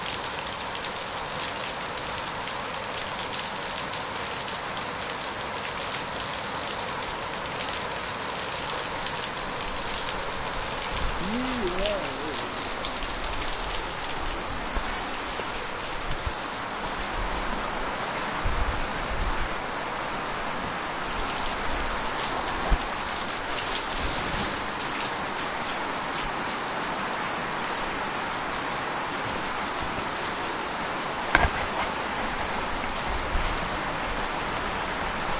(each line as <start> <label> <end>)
0.0 heavy rain 35.3
11.1 Wassergeplätscher vom Dach 13.0